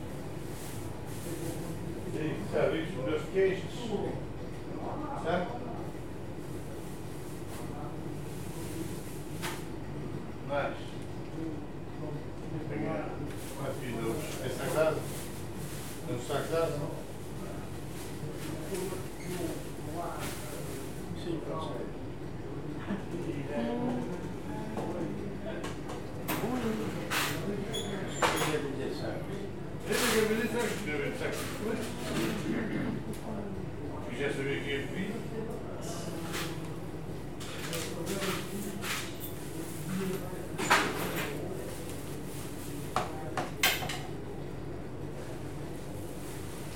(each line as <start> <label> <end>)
0.0 People shopping at a butcher shop 46.7